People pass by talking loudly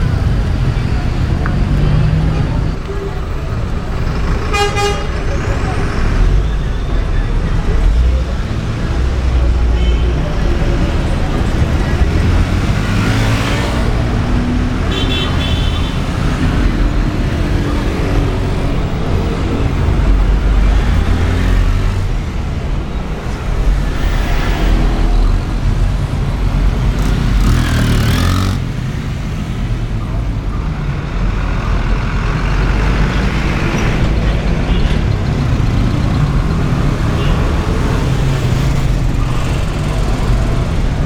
0.0s 14.8s

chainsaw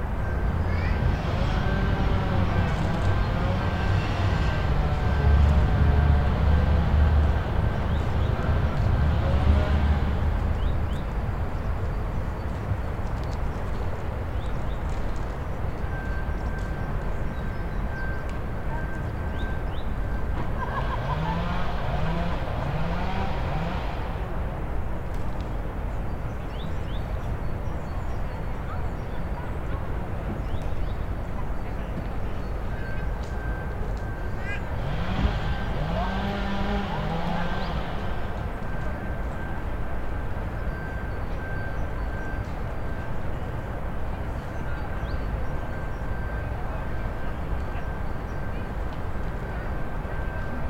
20.8s 24.2s, 34.7s 38.3s

